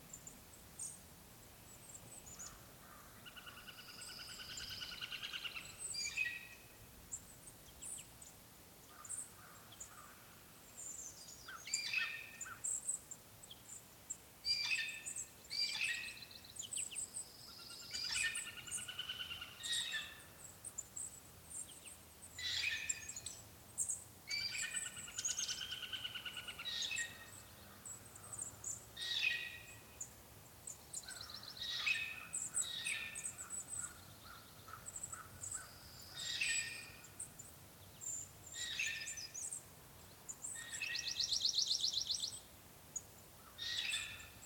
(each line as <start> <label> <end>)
2.3 pileated woodpecker calls 6.5
17.6 pileated woodpecker calls 20.3
24.3 pileated woodpecker calls 29.8
31.0 pileated woodpecker calls 37.2
31.1 crows 36.9
43.4 pileated woodpecker calls 44.4